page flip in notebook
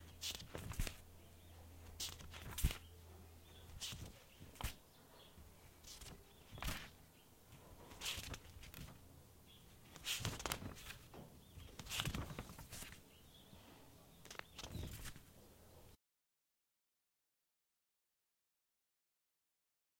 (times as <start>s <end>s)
0.1s 1.0s, 1.9s 2.9s, 3.7s 4.8s, 5.8s 7.0s, 7.9s 9.0s, 9.9s 13.0s, 14.2s 15.3s